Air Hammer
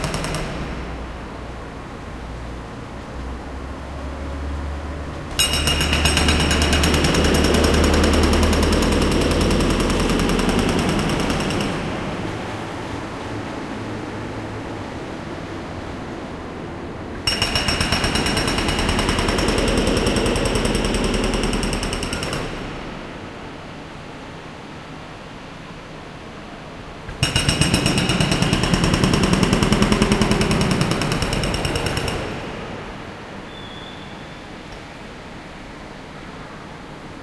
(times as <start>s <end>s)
5.4s 12.1s, 17.3s 22.9s, 27.1s 32.9s